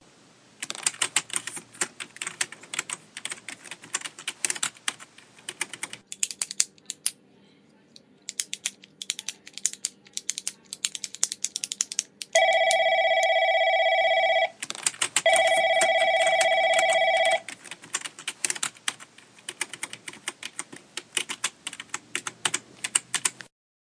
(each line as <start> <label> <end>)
0.6 typing 7.1
0.6 computer 7.2
6.1 pen clicking 7.2
8.2 computer 23.5
8.3 pen clicking 12.4
8.3 typing 13.3
12.4 Phone rings 14.6
14.6 typing 23.5
15.2 Phone rings 17.5